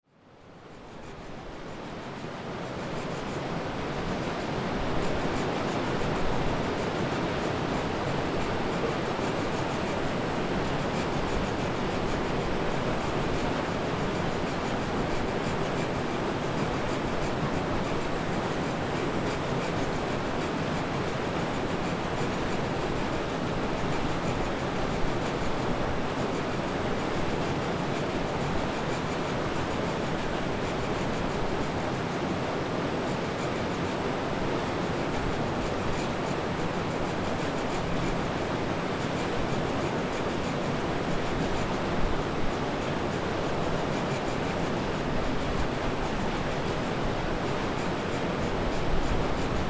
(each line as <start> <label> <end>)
0.1 turbine at hydro power plant 49.6